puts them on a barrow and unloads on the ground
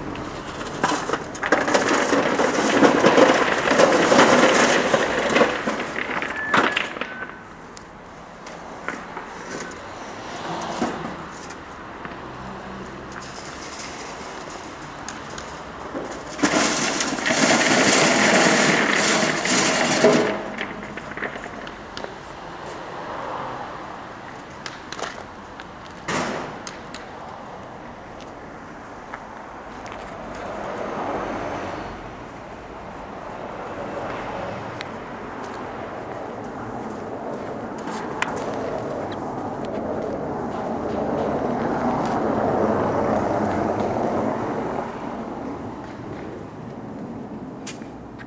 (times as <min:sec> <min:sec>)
0:00.0 0:22.8, 0:24.4 0:27.1, 0:34.8 0:42.7